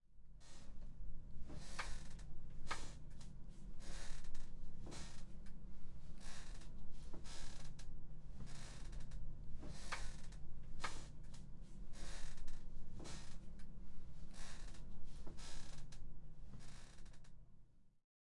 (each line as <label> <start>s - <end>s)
rocking chair moving side to side 1.5s - 3.2s
rocking chair moving side to side 3.8s - 5.3s
rocking chair moving side to side 6.2s - 7.8s
rocking chair moving side to side 8.4s - 13.6s
rocking chair moving side to side 14.3s - 16.0s